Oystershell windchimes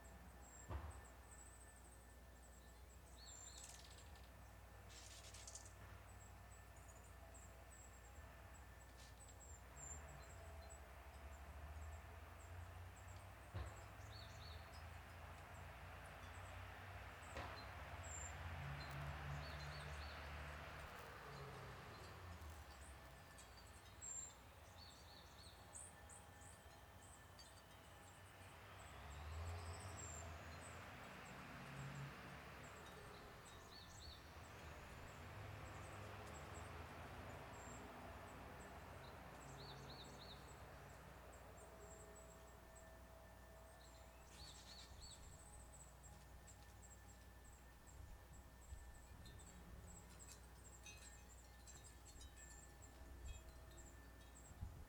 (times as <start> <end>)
46.1 54.8